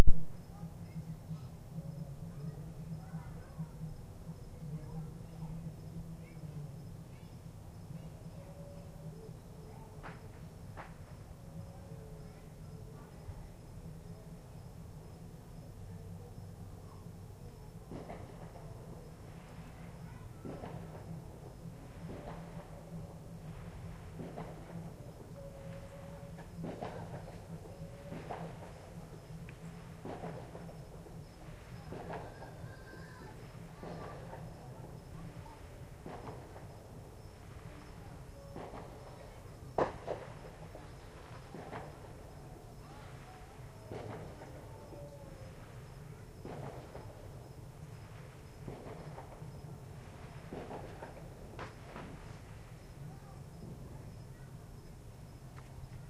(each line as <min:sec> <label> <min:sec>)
0:00.0 party in the distance 0:54.8
0:17.8 fireworks 0:21.2
0:17.8 firecrackers 0:54.3
0:21.8 fireworks 0:36.8
0:37.4 fireworks 0:54.3